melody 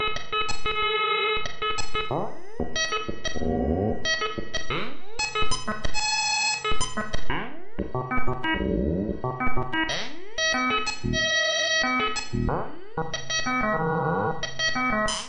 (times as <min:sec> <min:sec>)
0:07.8 0:09.8